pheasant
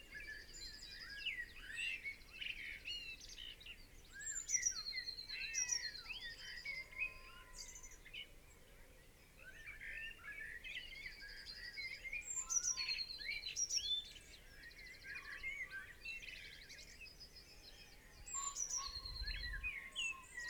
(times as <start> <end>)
18.2 20.4